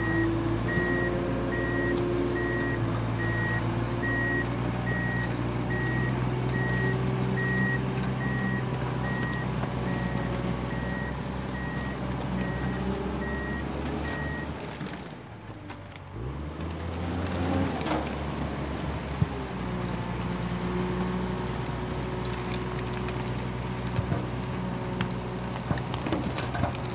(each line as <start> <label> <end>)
0.0 beeps during reverse gear 14.5
0.0 Tracktor starts working crushing garbage 26.9